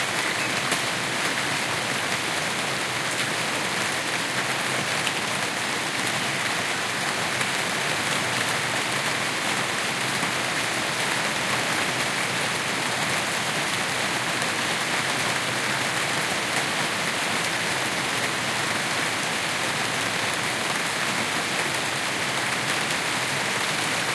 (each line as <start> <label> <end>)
0.0 rain 24.1
0.0 wind 24.1
0.1 birds 0.9